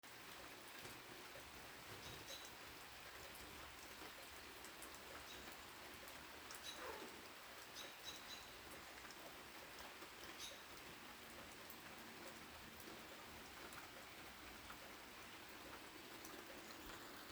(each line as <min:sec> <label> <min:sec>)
0:06.6 bird chirping 0:07.1
0:07.8 bird chirping 0:08.6
0:10.4 bird chirping 0:10.6